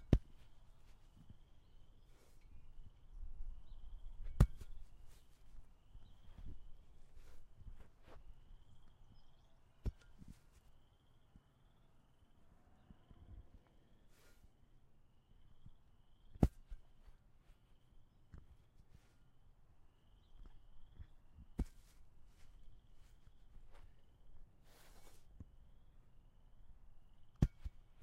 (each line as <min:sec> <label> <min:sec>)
0:04.2 CINDER BLOCK THUD IN GRASS 0:05.3
0:16.3 CINDER BLOCK THUD IN GRASS 0:16.8